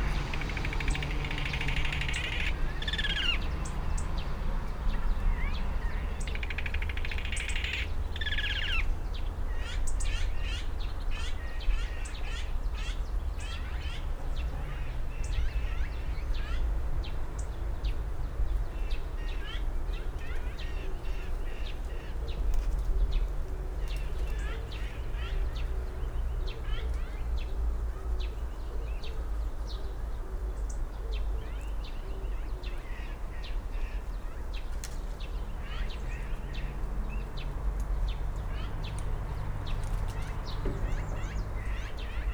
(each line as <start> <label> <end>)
0.0 voices of these Azure Magpies 8.9